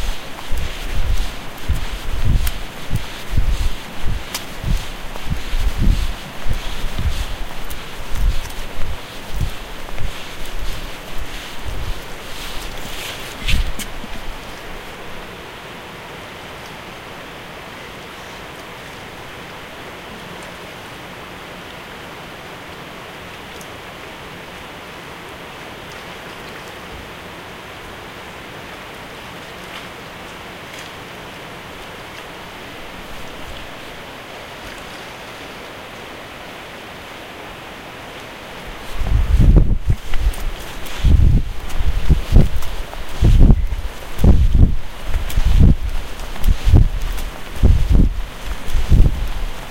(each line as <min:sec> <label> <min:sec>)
0:00.0 Dock walking 0:15.2
0:00.0 mic wind 0:15.4
0:00.0 water 0:49.7
0:38.6 mic wind 0:49.7
0:38.7 Dock walking 0:49.7